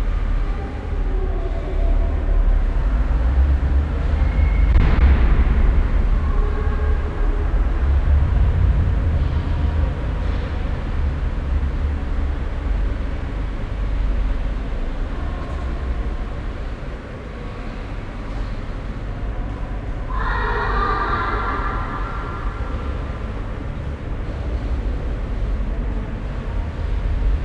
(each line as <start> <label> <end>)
0.0 deep resonating sound of car motors in the distant 27.4